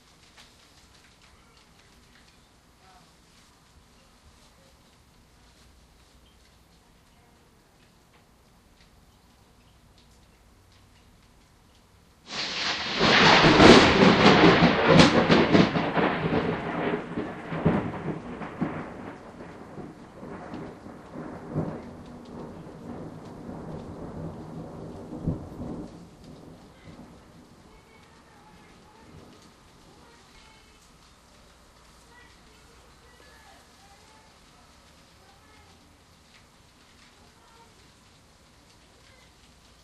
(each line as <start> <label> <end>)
0.0 gradual build up rain 39.8
12.3 thunder clap 30.6